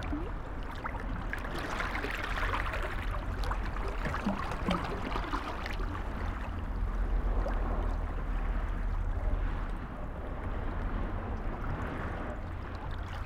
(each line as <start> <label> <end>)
0.0 Waves on the breakwater 13.2